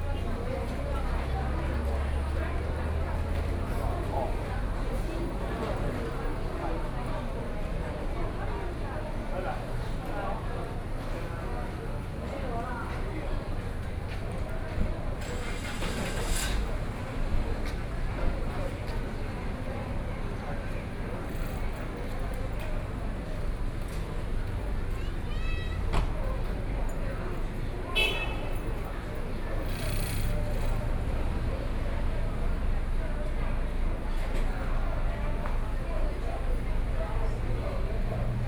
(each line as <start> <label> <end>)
10.9 Traffic Sound 38.4